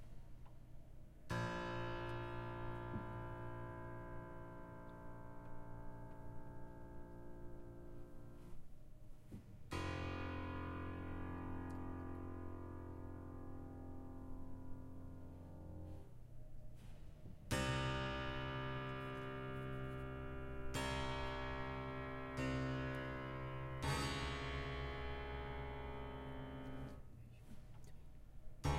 Hitting the strings inside a grand piano 0:01.3 - 0:08.5
Hitting the strings inside a grand piano 0:09.7 - 0:16.1
Hitting the strings inside a grand piano 0:17.5 - 0:27.0

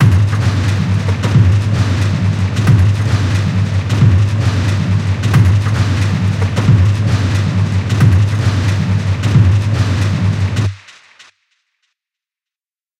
mechanical rhtythm 0:00.0 - 0:10.8

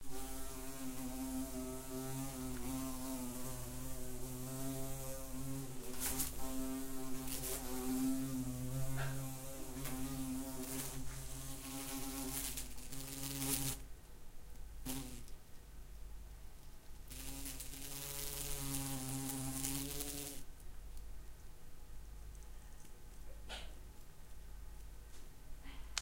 wasp 0:00.0 - 0:13.8
wasp 0:14.8 - 0:15.3
wasp 0:17.1 - 0:20.5

